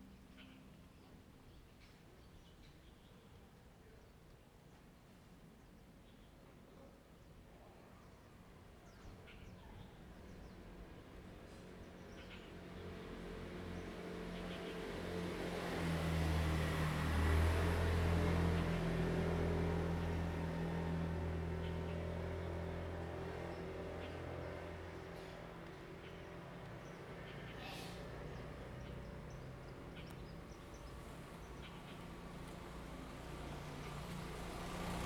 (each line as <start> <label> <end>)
11.5 Traffic Sound 35.0
21.5 Birdsong 35.0